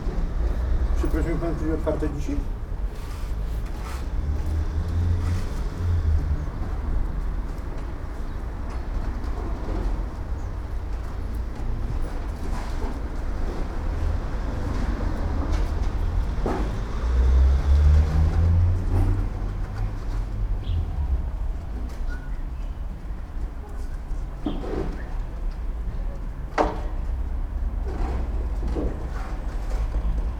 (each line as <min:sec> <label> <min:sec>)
0:00.0 construction workers renovating side of a building 0:30.3
0:01.0 man walks up to me asking 0:02.6